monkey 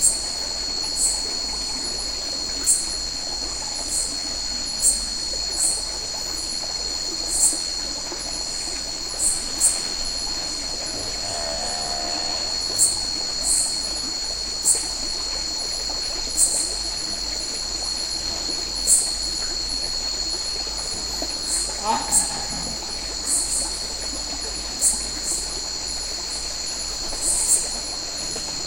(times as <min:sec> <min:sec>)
0:21.6 0:22.9